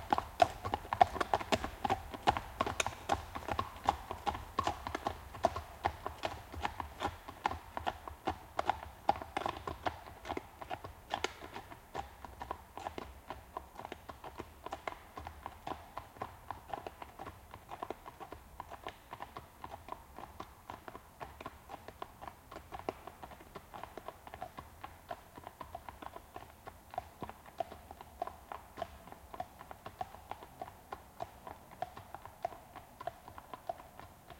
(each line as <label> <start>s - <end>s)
Two horses passing by walking on asphalt 0.0s - 34.3s